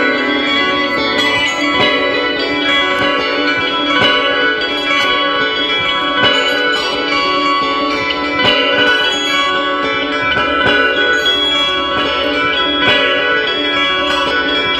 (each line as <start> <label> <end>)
0.0 guitar 14.7